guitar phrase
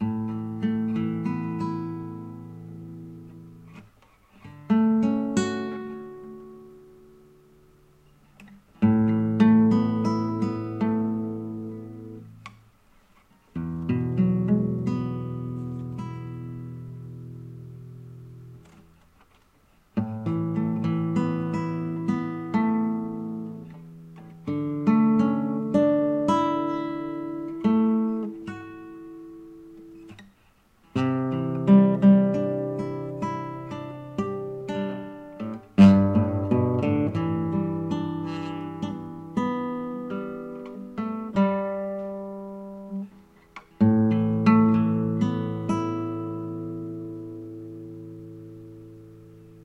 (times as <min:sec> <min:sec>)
0:08.3 0:12.6, 0:13.5 0:19.0, 0:20.0 0:30.3, 0:30.9 0:49.6